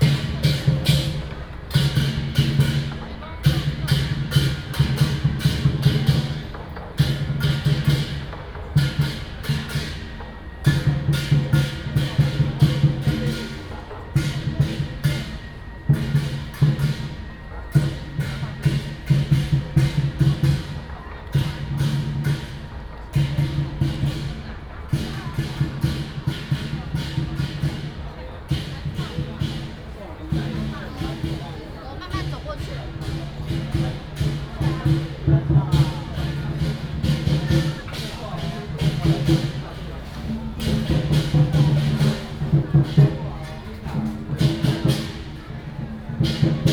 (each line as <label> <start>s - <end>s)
Traditional and modern variety shows 0.0s - 46.7s
Walking on the road 0.0s - 46.7s